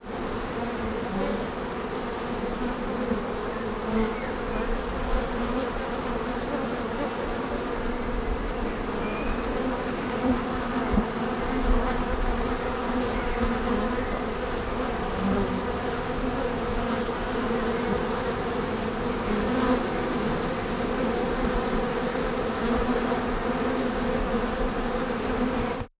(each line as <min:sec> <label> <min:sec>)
0:00.0 swarm of bees 0:25.9
0:03.3 birds in the background 0:05.0
0:08.0 birds in the background 0:11.2
0:12.5 birds in the background 0:15.0